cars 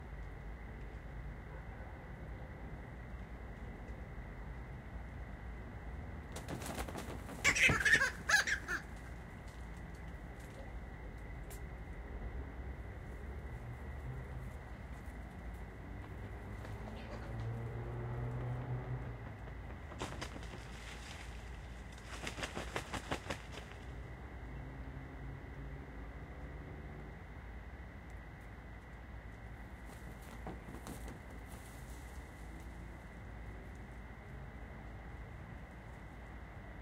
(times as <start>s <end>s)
15.4s 20.1s